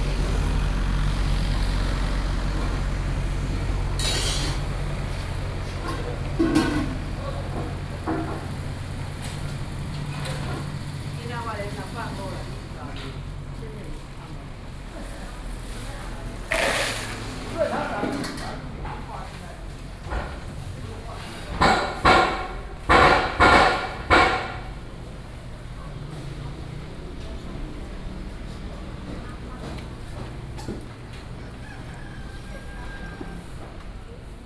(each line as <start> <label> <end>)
0.0 Walking in a small alley 34.4